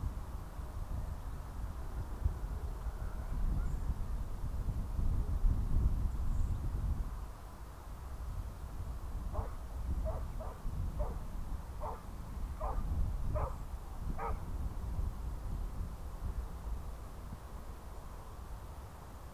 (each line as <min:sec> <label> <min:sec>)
0:00.0 aircraft 0:19.3
0:13.4 dogs 0:13.6